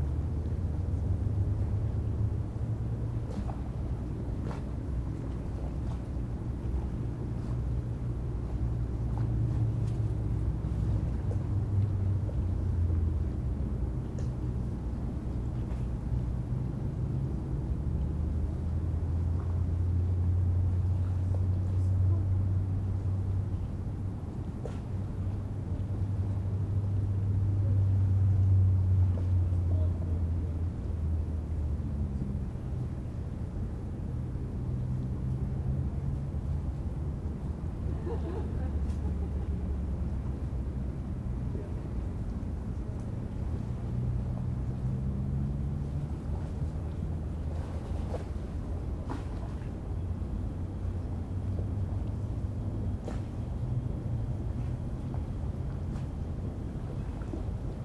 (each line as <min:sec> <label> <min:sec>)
0:00.0 tourist boats generating waves 0:57.8